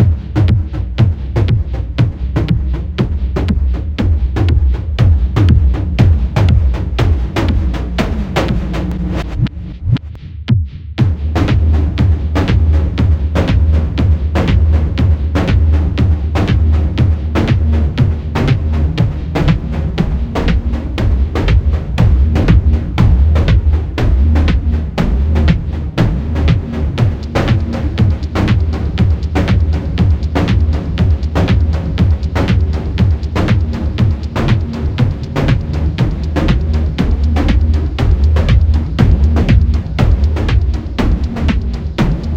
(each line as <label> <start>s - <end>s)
Synthesizer 0.0s - 10.3s
Bass 0.0s - 42.3s
Hi Hats 0.0s - 42.3s
Kick 0.0s - 42.3s
Snare 5.2s - 42.3s
Synthesizer 11.0s - 42.3s
Clap 21.4s - 42.3s